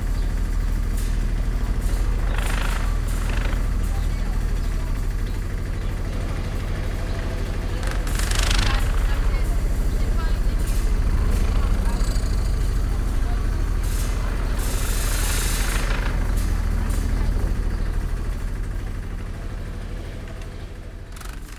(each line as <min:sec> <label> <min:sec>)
0:00.0 wastewater pump rattling 0:21.5